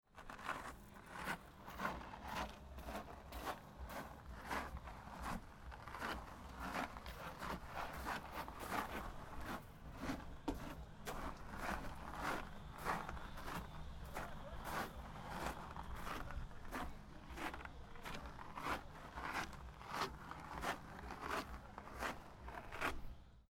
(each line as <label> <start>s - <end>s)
sand on wood 1.1s - 23.0s